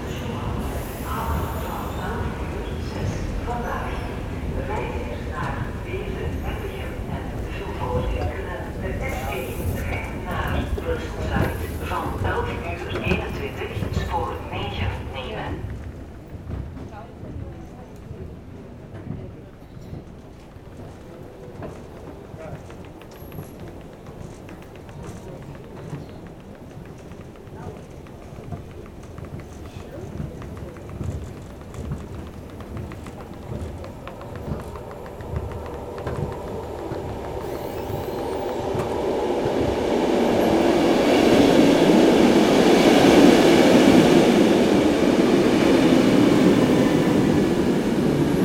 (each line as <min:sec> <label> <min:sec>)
0:00.0 announcements 0:15.8
0:00.0 a walk in the tunnel 0:48.4
0:00.0 train leaving 0:48.4